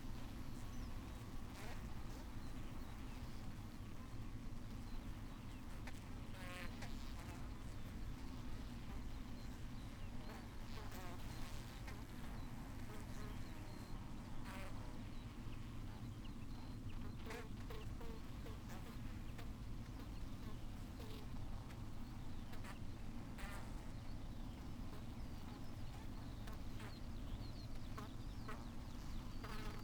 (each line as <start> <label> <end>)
0.1 bees swarming on the outside of one of the hives 29.8